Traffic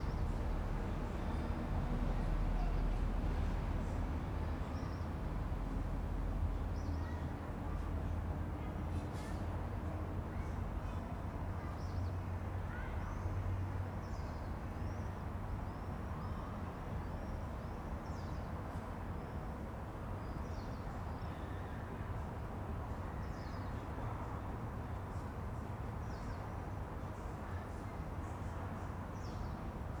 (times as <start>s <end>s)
0.0s 10.8s